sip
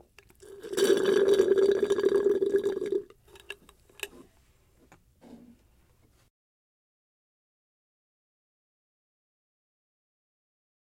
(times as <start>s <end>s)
0.4s 4.2s